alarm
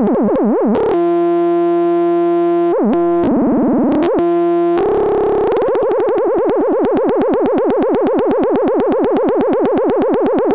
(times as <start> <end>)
4.1 6.1